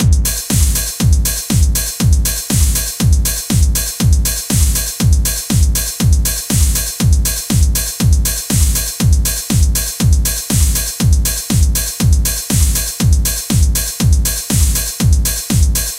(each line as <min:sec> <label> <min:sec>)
0:00.0 drum line 0:15.9